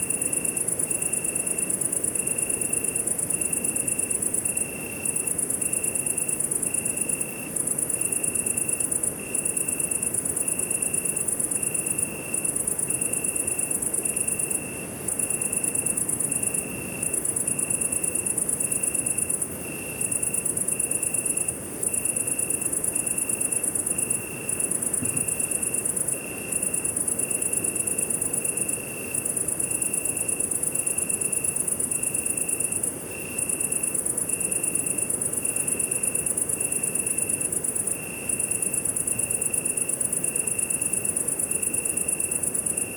crickets 0.0 - 42.9

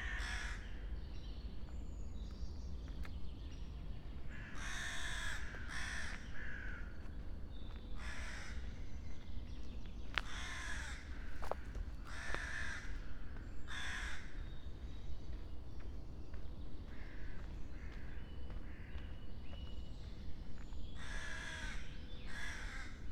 crows 0.0 - 0.8
crows 4.3 - 7.1
crows 7.7 - 8.7
crows 10.2 - 14.5
crows 16.9 - 19.2
crows 21.0 - 23.1

